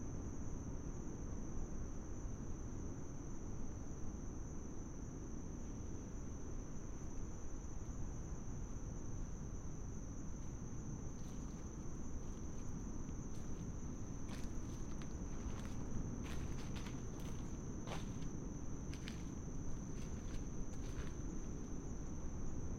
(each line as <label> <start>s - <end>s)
insects 0.0s - 22.7s